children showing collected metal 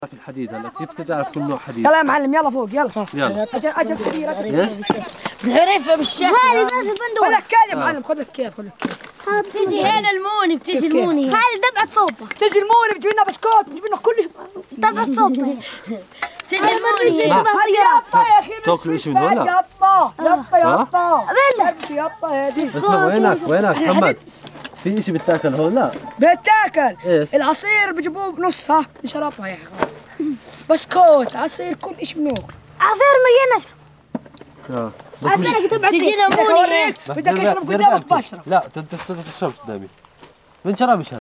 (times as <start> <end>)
21.1 33.8